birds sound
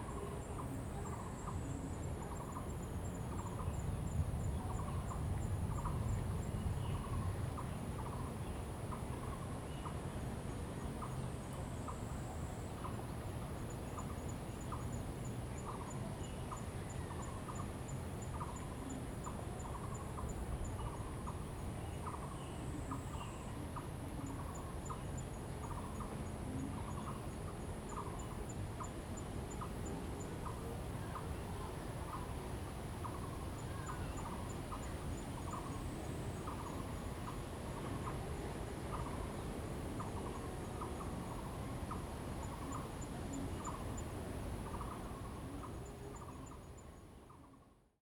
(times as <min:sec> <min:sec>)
0:11.9 0:47.8